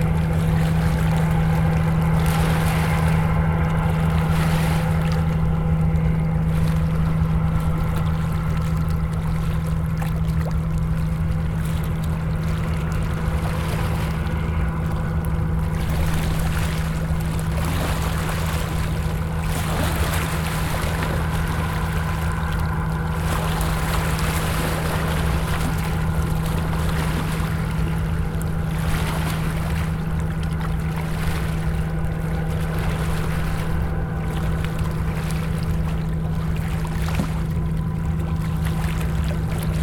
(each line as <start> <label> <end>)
0.0 dredging boat 39.8
0.0 wakes from the two boats 39.8